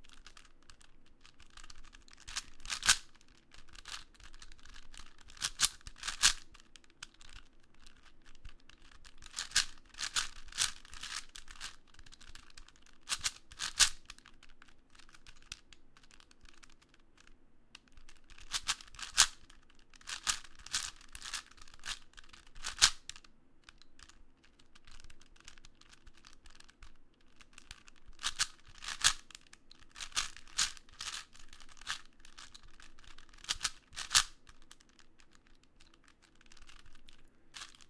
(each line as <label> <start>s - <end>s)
quick solve of a 4x4x4 Cube 0.0s - 37.8s